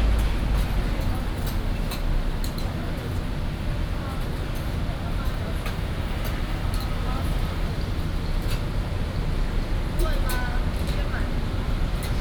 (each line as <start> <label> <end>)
0.0 Traffic Sound 3.5